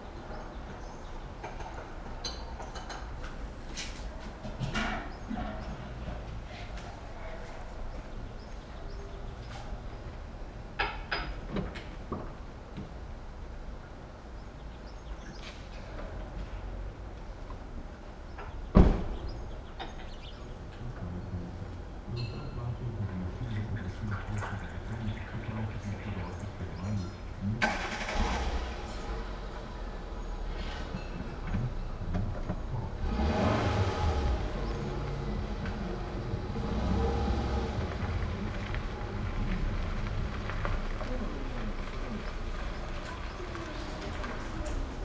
construction workers 0:00.0 - 0:13.0
construction workers 0:14.9 - 0:45.0

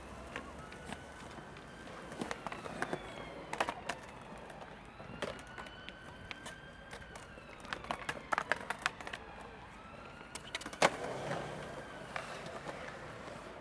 skating 0:10.3 - 0:13.6

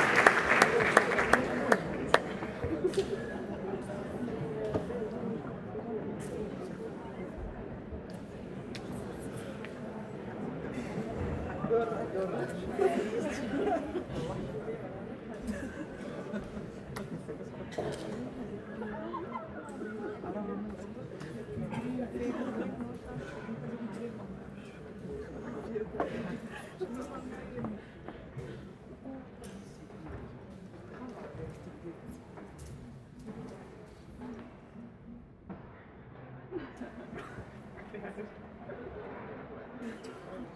audience first clapping 0:00.0 - 0:05.2

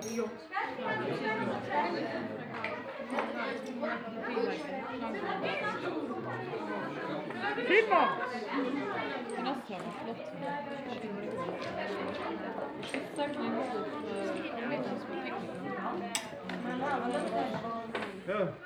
several voices 0:00.0 - 0:18.6

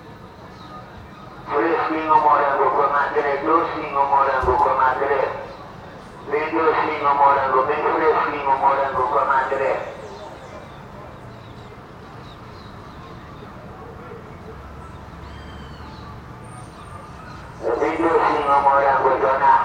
Seller from his truck announcing some strawberries 0:00.4 - 0:11.2
Seller from his truck announcing some strawberries 0:16.8 - 0:19.6

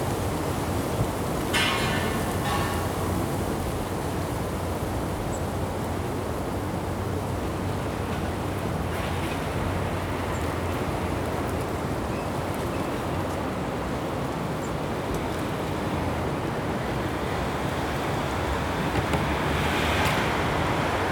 traffic in the background 0:00.0 - 0:21.1

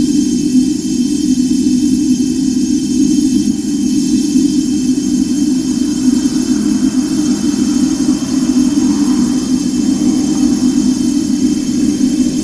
background traffic sounds 0:03.3 - 0:12.4
humming gasbox 0:03.6 - 0:12.4

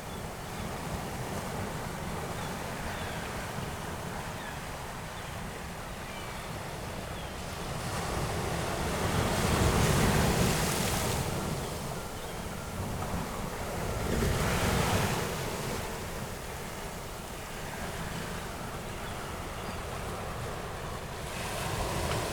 waves and water flowing back over the sand 0:00.0 - 0:22.3

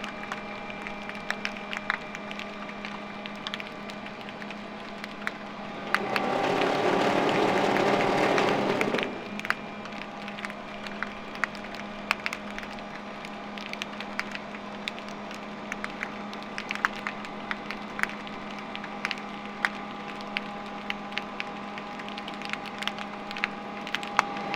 motors 0:00.0 - 0:24.5
Snapping shrimp 0:09.2 - 0:24.5

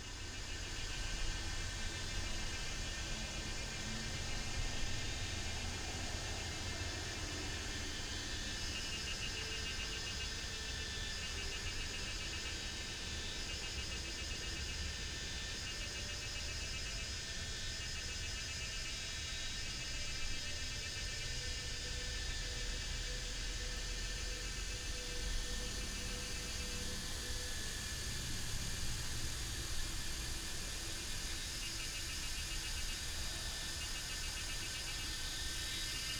Cicadas cry 0:00.1 - 0:36.1

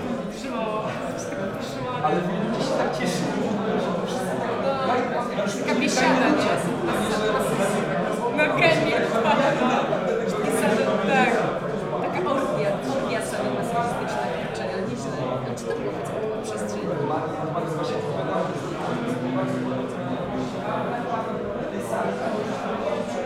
people talking 0:00.0 - 0:23.2

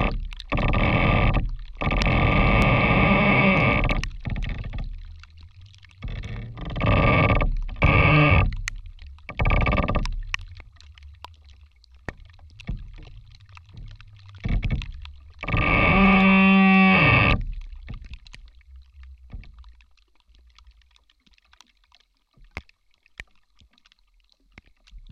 Creaking rotten tree 0:00.0 - 0:19.8
slight rain is also heard falling on the tree's surface 0:00.0 - 0:25.1

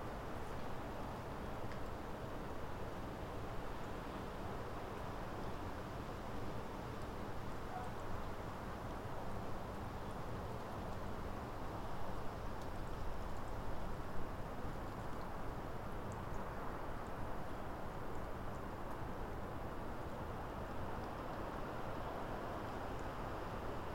wind blowing through the birch woodland 0:00.0 - 0:23.9
train whistle 0:07.7 - 0:08.0

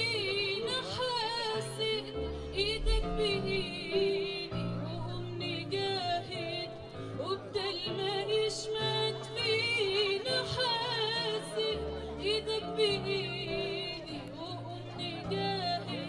singing 0:00.0 - 0:16.0

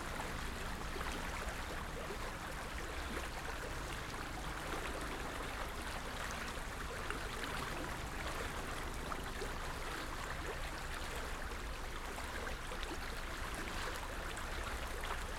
Gentle splashes and laps of the stream 0:00.0 - 0:15.3

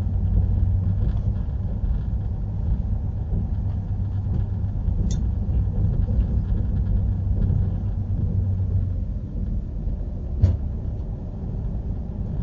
rails ratter 0:00.0 - 0:12.4

